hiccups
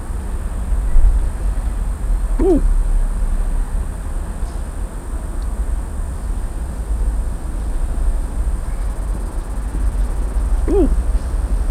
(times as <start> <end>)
2.4 2.7, 10.7 11.0